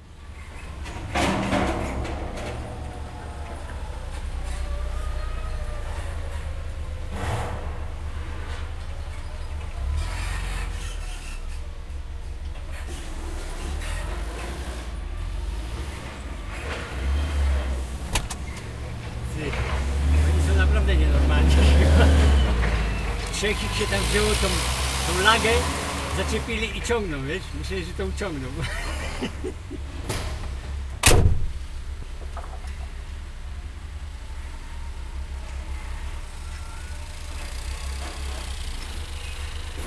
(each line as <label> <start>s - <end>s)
forklift's creaking, rumbling, banging 0.0s - 33.0s
forklift's creaking, rumbling, banging 34.4s - 39.8s